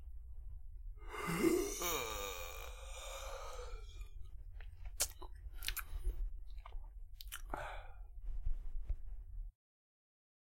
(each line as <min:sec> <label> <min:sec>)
0:01.0 One Yawn 0:04.0